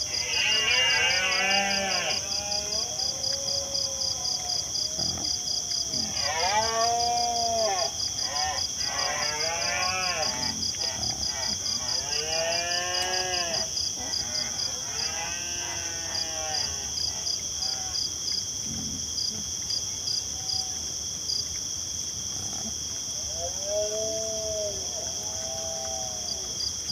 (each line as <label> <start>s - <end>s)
Wild pigs rooting around and squealing 0.0s - 26.9s
crickets sing 0.0s - 26.9s